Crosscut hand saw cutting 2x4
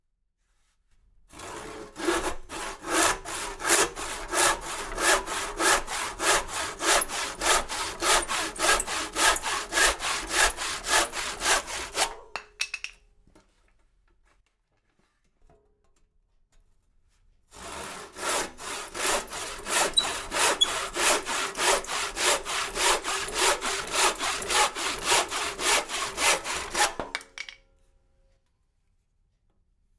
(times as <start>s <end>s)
1.3s 12.3s, 17.5s 27.4s